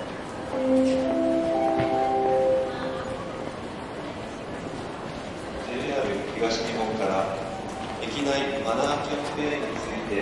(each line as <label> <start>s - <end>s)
Train Station Announcements 0.0s - 10.2s
train 0.0s - 10.2s